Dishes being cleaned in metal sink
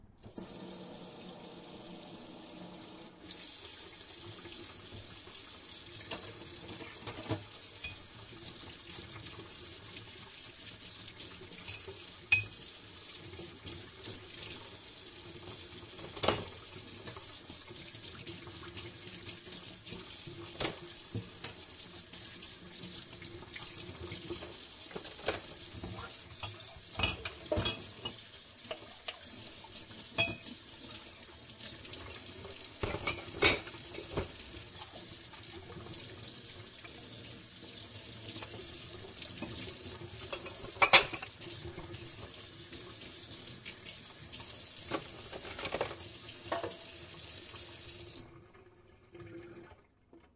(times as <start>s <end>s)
4.4s 14.6s, 15.3s 22.4s, 23.0s 31.1s, 31.8s 37.1s, 38.2s 43.1s, 44.2s 47.1s